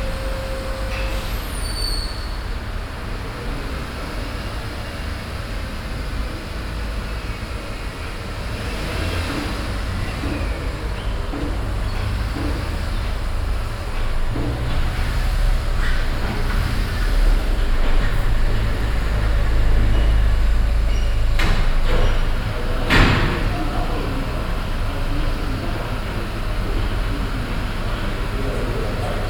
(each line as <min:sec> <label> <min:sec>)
0:00.0 cars driving inside the open building 0:29.2